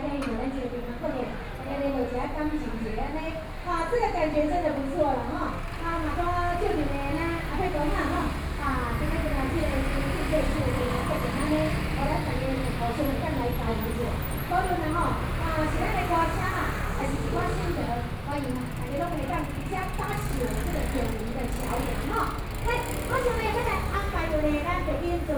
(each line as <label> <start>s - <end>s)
Traffic Noise 0.0s - 25.3s